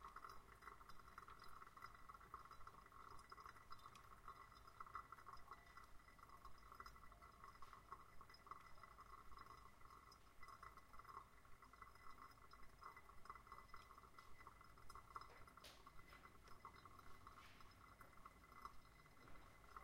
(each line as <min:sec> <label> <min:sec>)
0:00.0 coffee maker making coffee 0:19.8